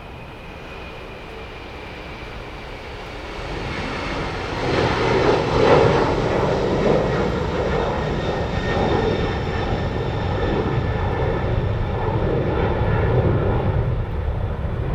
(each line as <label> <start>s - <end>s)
wind 0.0s - 14.9s